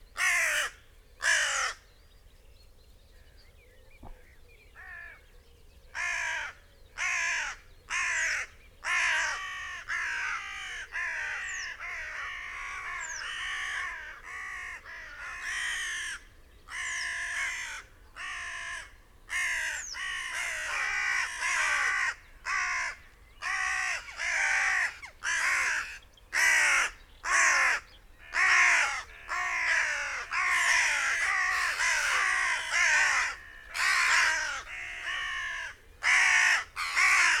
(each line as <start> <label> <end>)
0.2 crows 1.8
4.8 crows 5.2
6.0 crows 37.4
18.7 loose flock of crows flapped 37.4